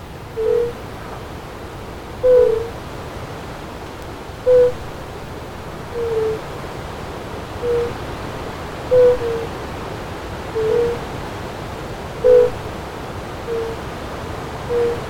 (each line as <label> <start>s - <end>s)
Fire-bellied toads singing 0.3s - 0.8s
Fire-bellied toads singing 2.2s - 2.8s
Fire-bellied toads singing 4.5s - 4.9s
Fire-bellied toads singing 5.9s - 6.5s
Fire-bellied toads singing 7.6s - 8.0s
Fire-bellied toads singing 8.9s - 9.5s
Fire-bellied toads singing 10.6s - 11.1s
Fire-bellied toads singing 12.2s - 12.7s
Fire-bellied toads singing 13.5s - 13.8s
Fire-bellied toads singing 14.6s - 15.0s